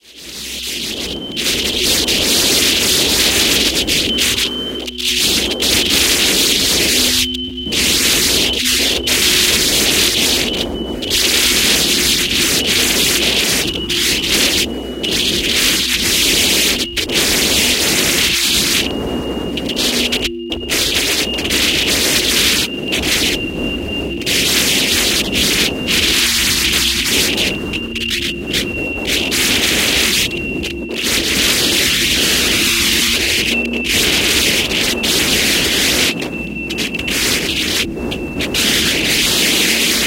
Wind with some electronic interference 0.0 - 40.0

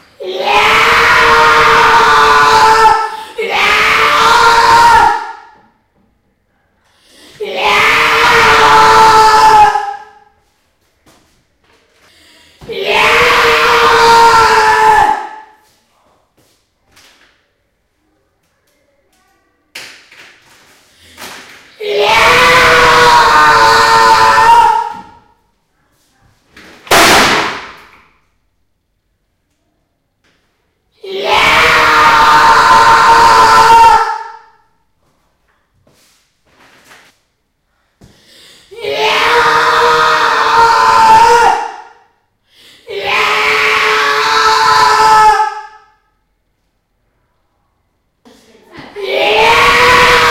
scream 0.0 - 5.6
scream 7.1 - 10.4
scream 12.6 - 15.6
scream 21.0 - 25.4
scream 31.0 - 34.7
scream 38.3 - 46.2
scream 48.9 - 50.3

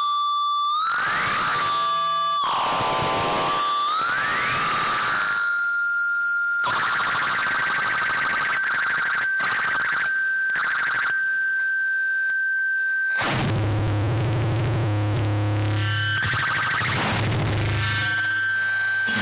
guitar 0.7 - 7.8
guitar 13.0 - 19.2
extreme feedback 15.6 - 19.2

